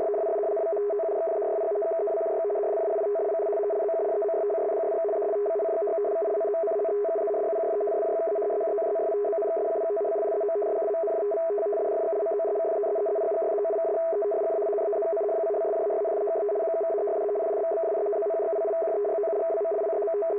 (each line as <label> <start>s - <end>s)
fast signal 0.0s - 20.3s